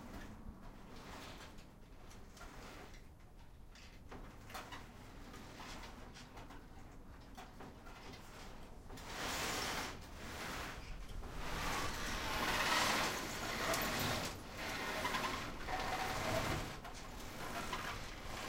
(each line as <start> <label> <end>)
0.0 Trees scraping in the wind on an aluminum roof 18.4